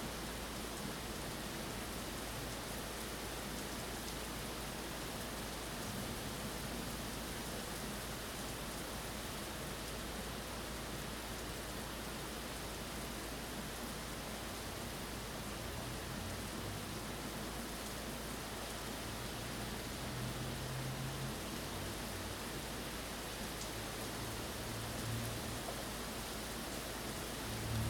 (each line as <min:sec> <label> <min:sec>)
0:00.0 rain 0:27.8